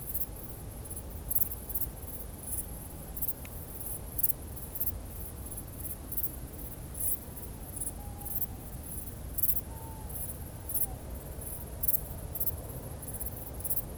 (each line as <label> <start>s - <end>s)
owl 7.8s - 8.7s
owl 9.4s - 11.1s